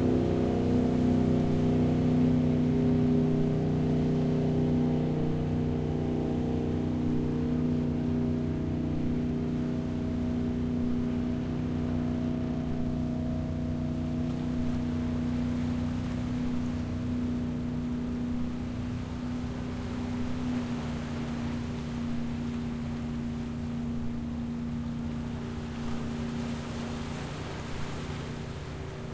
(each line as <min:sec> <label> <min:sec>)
0:00.0 Ocean water on the rocks 0:29.1
0:00.0 fishing boats passes 0:29.1